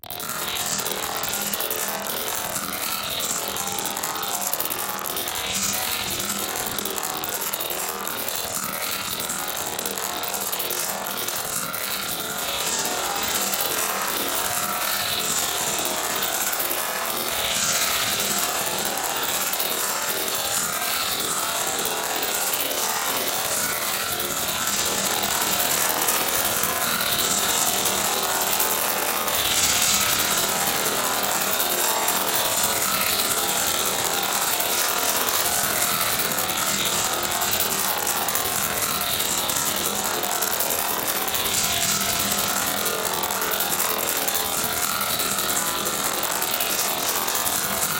rapid processed percussion 0.0 - 47.9

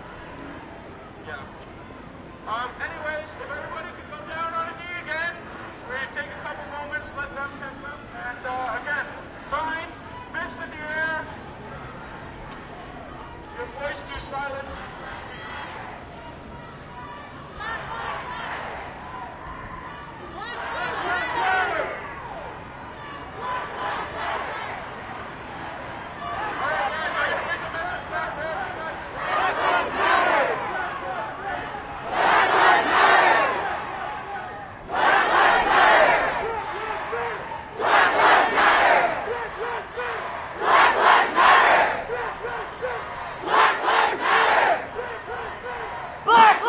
Crowd Protest March passing 0.0 - 46.6

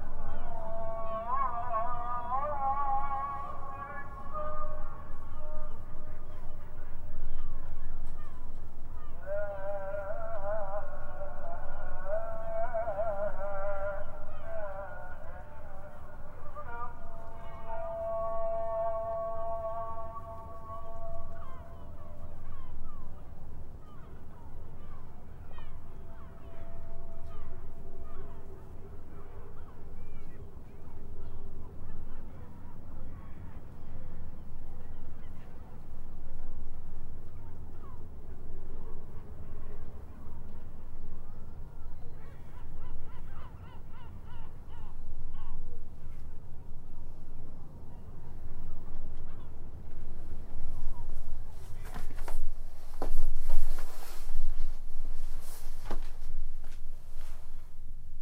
ezan-distant 0.0 - 58.2

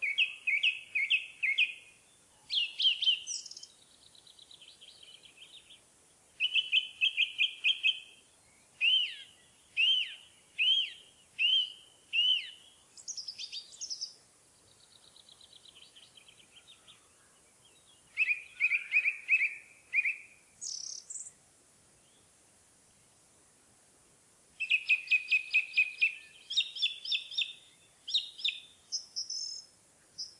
Eurasian Nuthatch singing 0.0 - 5.8
Eurasian Nuthatch singing 6.4 - 8.2
Eurasian Nuthatch singing 8.8 - 17.0
Eurasian Nuthatch singing 17.6 - 21.3
Eurasian Nuthatch singing 24.6 - 30.3

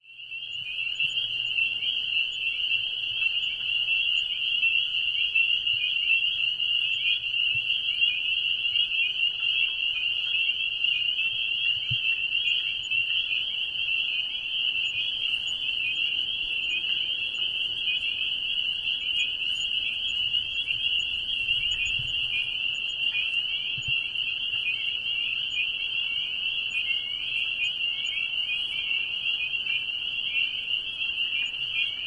Boreal chorus frogs 0.0 - 32.0
Spring Peepers 0.0 - 32.0

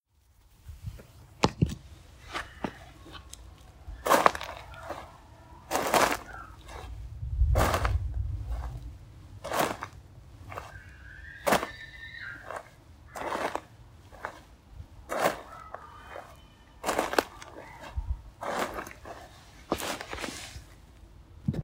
footsteps on gravel 2.1 - 20.8

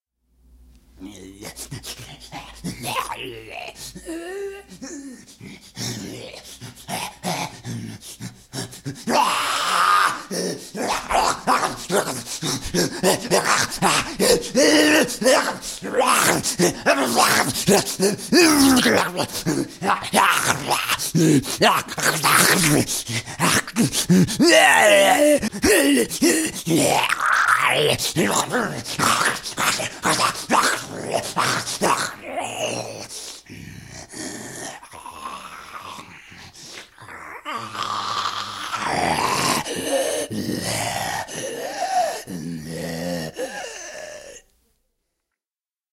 raging infected sees humans and chases them while screaming 1.0 - 33.2

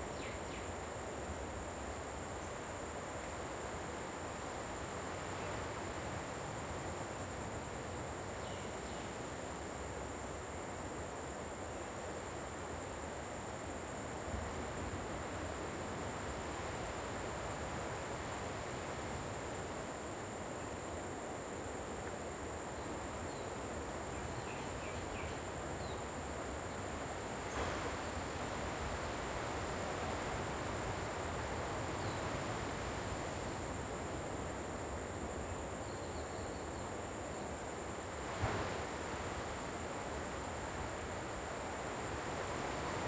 waves 0.0 - 35.9
insects chirping and hissing 0.0 - 43.0
waterfalls 25.5 - 35.4
waves 36.8 - 43.0
waterfalls 37.2 - 43.0

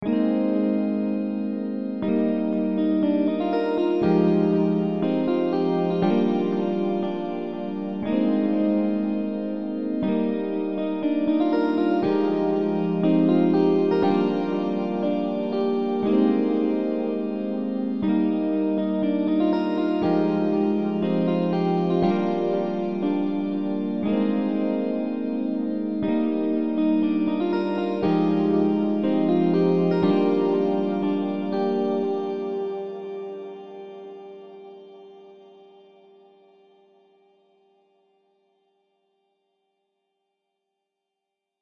epiano riff 0.0 - 34.8

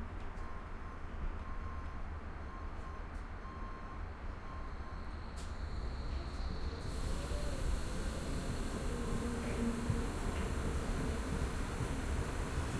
almost empty tram 0.0 - 12.7

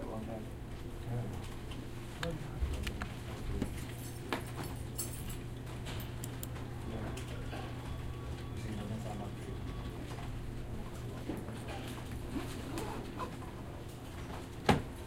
computers 5.5 - 14.0

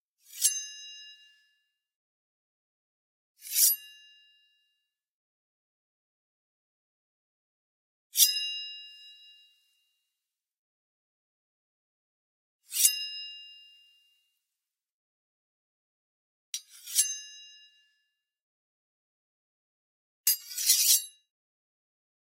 drawing a small knife or dagger 0.2 - 0.8
drawing a small knife or dagger 3.4 - 3.9
drawing a small knife or dagger 8.2 - 8.4
drawing a small knife or dagger 12.7 - 13.0
drawing a small knife or dagger 16.6 - 17.3
drawing a small knife or dagger 20.3 - 21.2

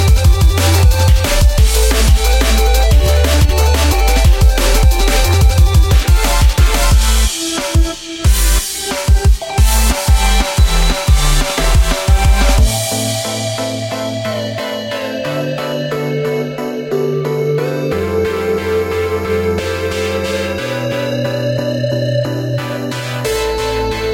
drums 0.0 - 16.7
bass 0.0 - 24.1
synth 0.0 - 24.1
drums 22.6 - 24.1

